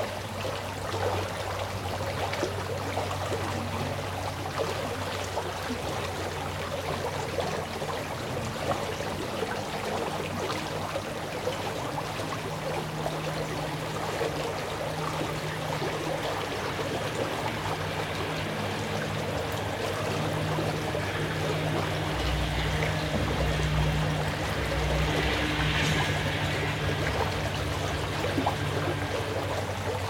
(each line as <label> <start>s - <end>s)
stream 0.0s - 30.0s